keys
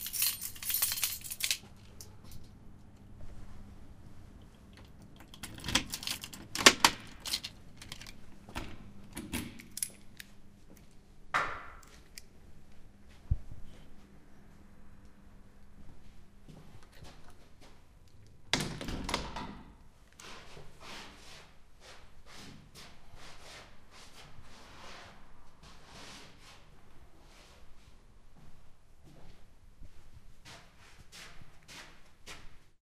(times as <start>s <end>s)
0.0s 2.5s, 4.4s 8.2s